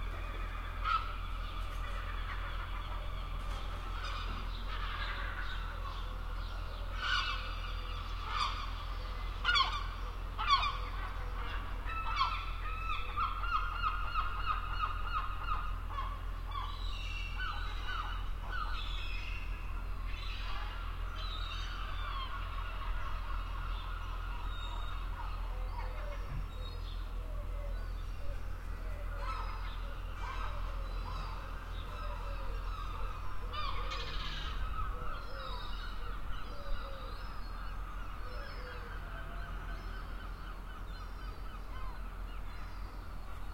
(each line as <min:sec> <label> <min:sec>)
0:00.0 Seagulls 0:43.5